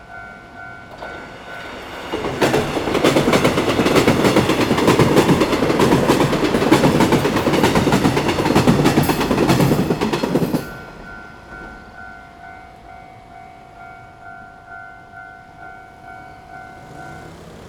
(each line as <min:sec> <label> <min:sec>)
0:00.0 Trains traveling through 0:17.6
0:15.4 Traffic Sound 0:17.6